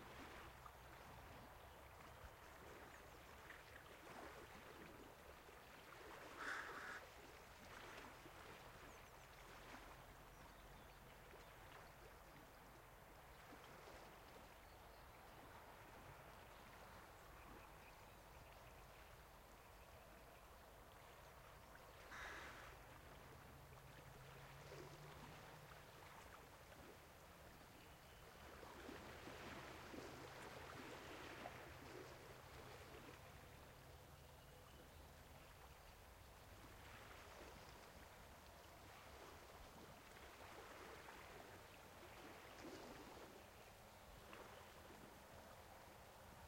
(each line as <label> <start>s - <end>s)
Distant waves 0.0s - 46.4s
crows 6.4s - 7.1s
frogs 6.4s - 7.1s
frogs 22.0s - 22.8s
crows 22.1s - 22.8s